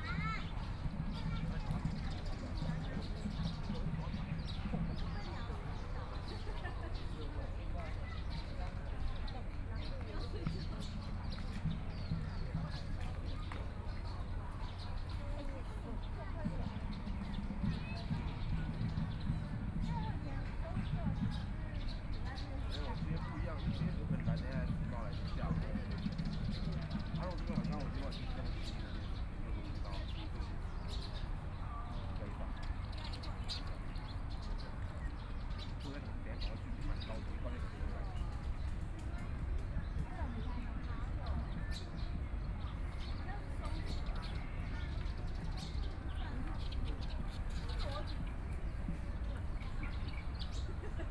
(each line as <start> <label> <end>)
0.0 birds sound 51.1